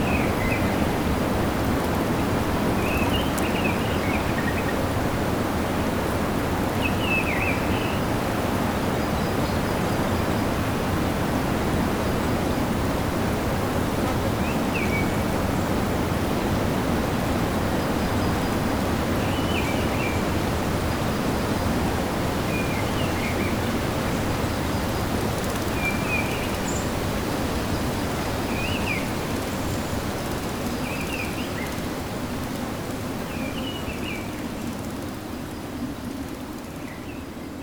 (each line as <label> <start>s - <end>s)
wind 0.0s - 37.6s